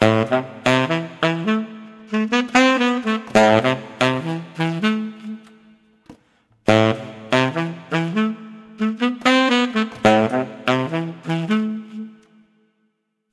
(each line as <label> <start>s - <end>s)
SAX LINE 0.0s - 12.6s